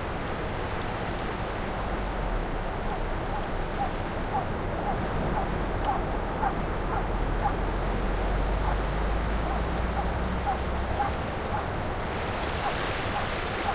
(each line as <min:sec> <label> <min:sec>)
0:00.0 waves 0:13.7